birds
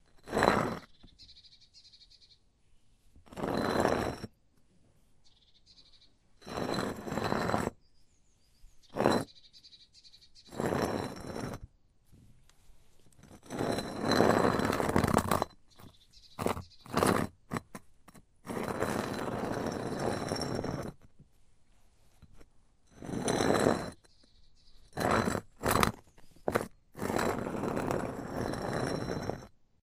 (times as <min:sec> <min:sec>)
0:00.8 0:02.5, 0:05.2 0:06.2, 0:07.8 0:10.6, 0:15.7 0:17.0